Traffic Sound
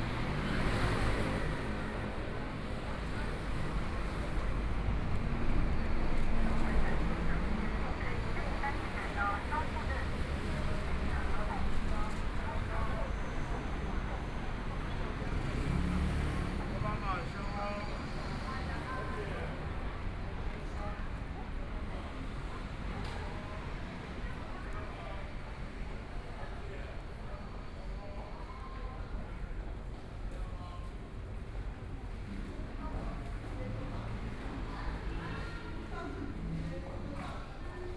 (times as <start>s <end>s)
0.0s 28.3s